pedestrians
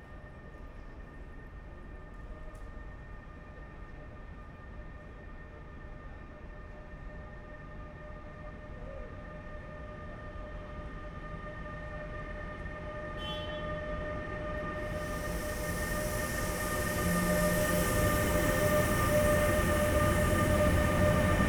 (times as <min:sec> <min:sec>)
0:10.2 0:21.4